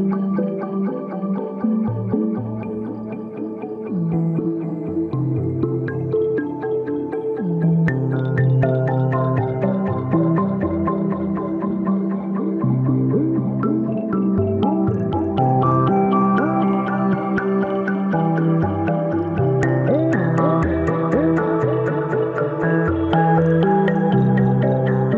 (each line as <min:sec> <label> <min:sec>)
0:00.0 melodic analog sequence drenched in delay and reverb 0:25.1